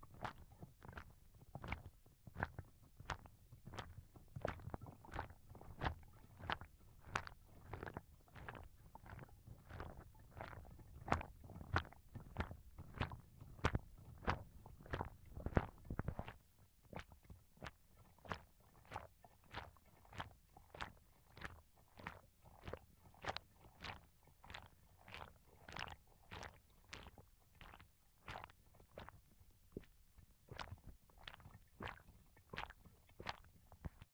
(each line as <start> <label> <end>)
0.0 shaking hollowed out pumpkin, filled with water 34.1